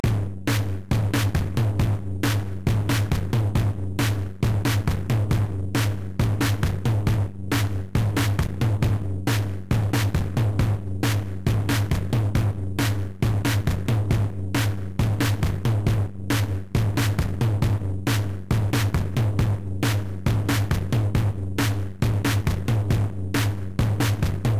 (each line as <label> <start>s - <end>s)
drums 0.0s - 24.5s